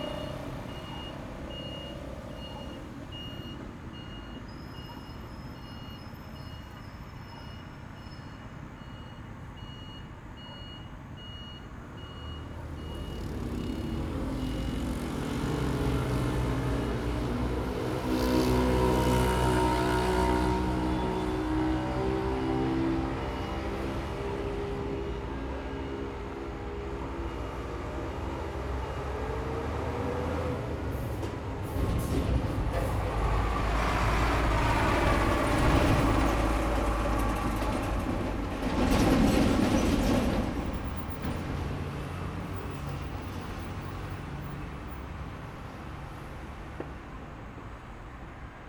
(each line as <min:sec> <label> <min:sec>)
0:00.0 train passes by 0:08.0
0:00.0 Traffic sound 0:48.6
0:12.0 train passes by 0:48.6